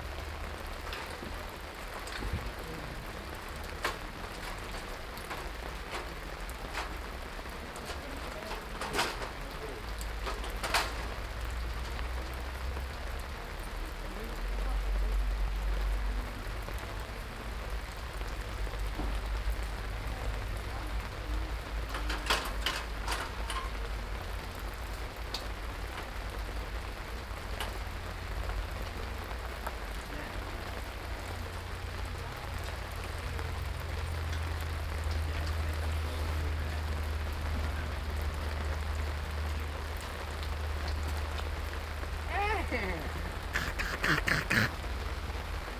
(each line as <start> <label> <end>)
0.0 construction 12.7
0.0 rain 45.7
16.8 construction 28.4
40.0 construction 45.7
42.3 people 44.8